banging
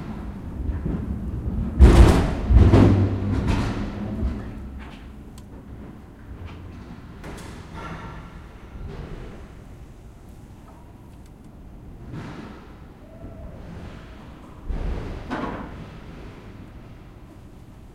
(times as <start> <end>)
0.6 9.5